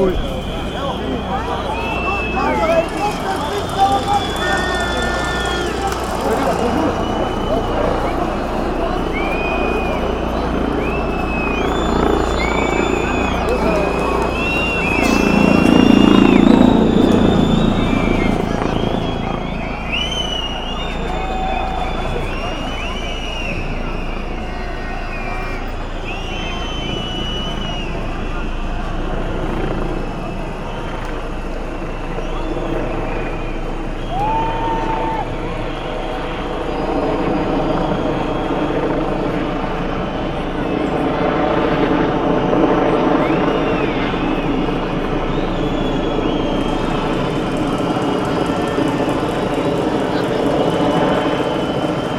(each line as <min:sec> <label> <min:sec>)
0:00.0 police chopper 0:41.1
0:00.0 police on horses 0:52.1